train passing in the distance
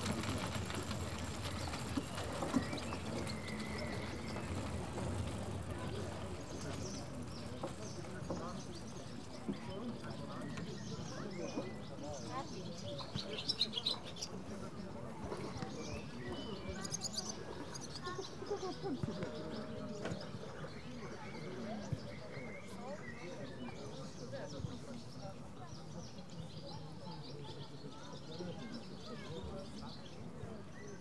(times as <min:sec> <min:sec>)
0:00.0 0:08.0